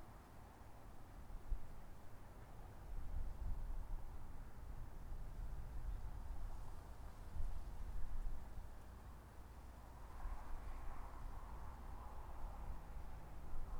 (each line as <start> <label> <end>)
0.0 wind 13.7
9.1 cars passing by 13.7